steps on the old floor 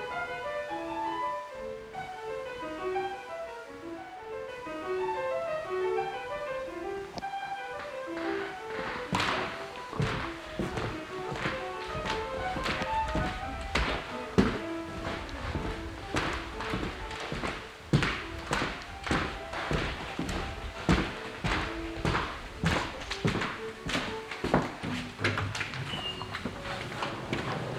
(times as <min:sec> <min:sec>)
0:06.3 0:27.7